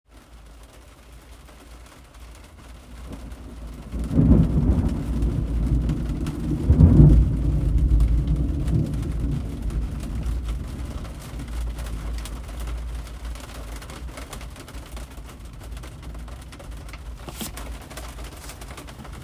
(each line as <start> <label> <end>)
0.0 Medium Rain on Jeep Roof 19.2
3.0 thunder 12.9